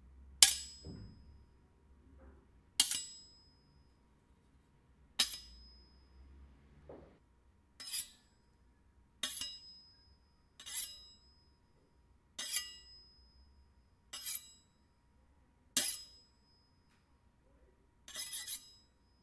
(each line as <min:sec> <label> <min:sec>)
0:02.8 Knife Sharpening 0:03.3
0:05.2 Knife Sharpening 0:05.8
0:07.8 Knife Sharpening 0:08.3
0:09.2 Knife Sharpening 0:09.7
0:10.6 Knife Sharpening 0:11.3
0:12.4 Knife Sharpening 0:13.1
0:14.1 Knife Sharpening 0:14.7
0:15.8 Knife Sharpening 0:16.2
0:18.1 Knife Sharpening 0:18.9